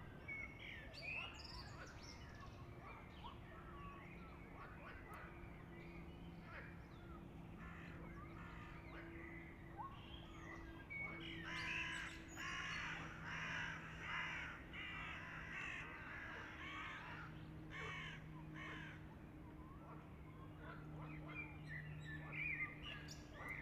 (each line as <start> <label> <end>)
1.6 Passage Helikopter 23.6